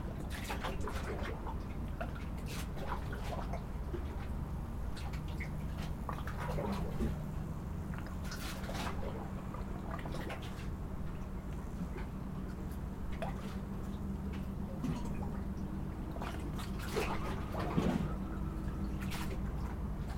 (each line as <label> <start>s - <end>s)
Water bubbling against the wooden pier 0.0s - 20.1s